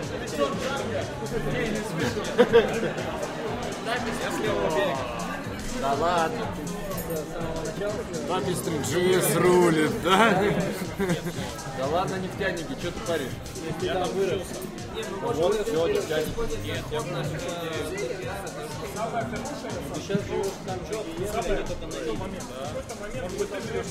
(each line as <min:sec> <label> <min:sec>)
0:00.0 background music 0:23.9
0:02.0 laughter 0:03.4
0:03.9 Russian speech 0:18.0
0:10.0 laughter 0:11.7